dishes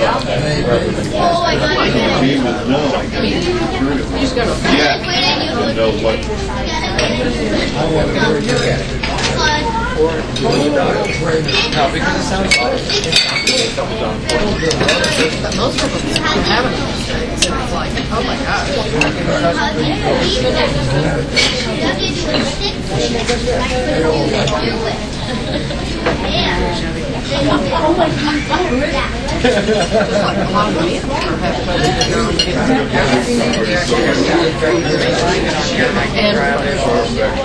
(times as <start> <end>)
8.3 9.5, 10.3 18.2, 21.3 23.4, 29.4 35.2